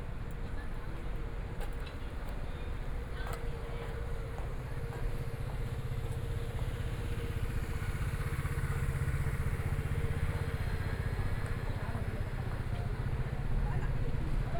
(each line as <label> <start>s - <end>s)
Walking through the market 0.0s - 14.5s